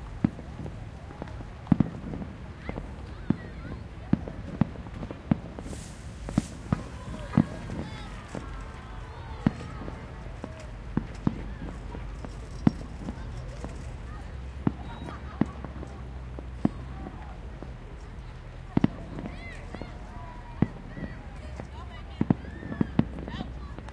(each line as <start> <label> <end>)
0.0 Personal fireworks 23.9
0.0 cars 23.9
0.0 crowd 23.9